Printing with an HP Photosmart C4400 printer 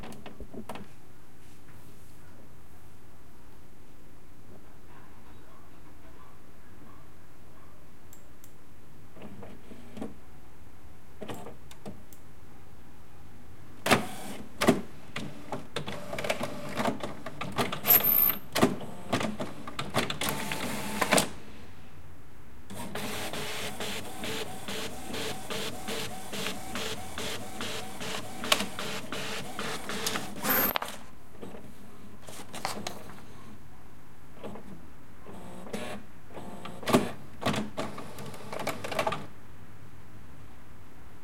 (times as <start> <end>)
13.9 14.4, 15.2 17.7, 18.8 21.3, 22.7 30.7, 35.3 39.3